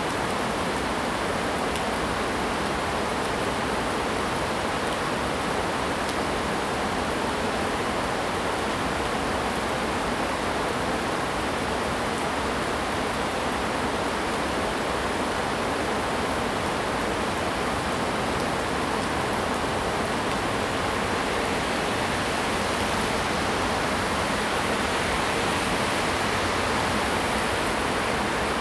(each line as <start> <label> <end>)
0.0 Heavy rain 28.6
18.8 Traffic Sound 28.6